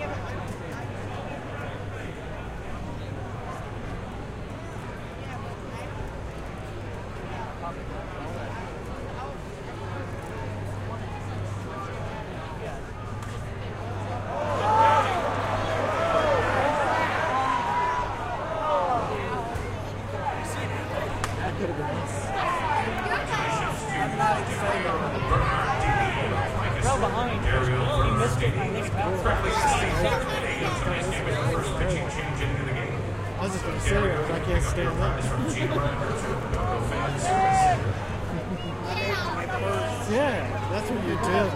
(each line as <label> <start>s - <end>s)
crowd is chattering excitedly 0.0s - 41.5s